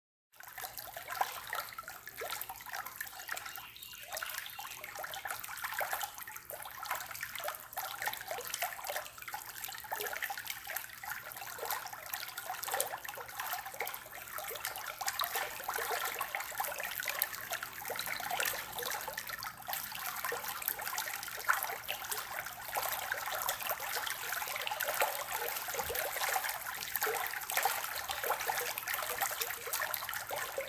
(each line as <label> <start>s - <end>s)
Water babbling1 0.4s - 30.6s